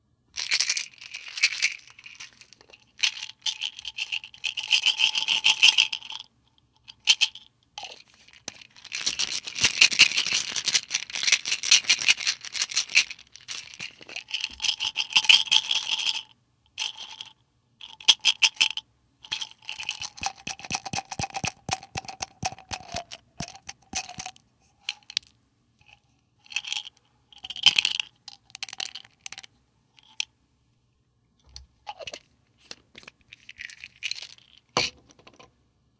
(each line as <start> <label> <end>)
7.8 pills emptied 16.2
20.0 Pill bottle opened 25.3
31.9 Pill bottle opened 35.0